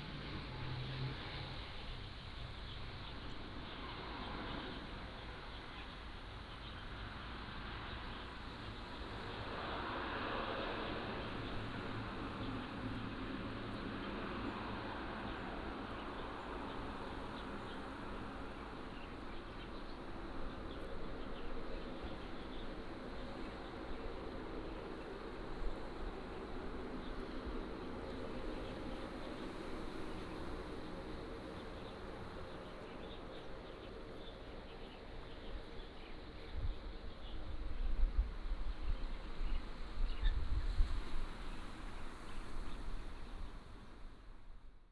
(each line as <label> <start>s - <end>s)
waves 7.0s - 34.0s
Birds singing 13.7s - 38.1s
waves 39.3s - 44.4s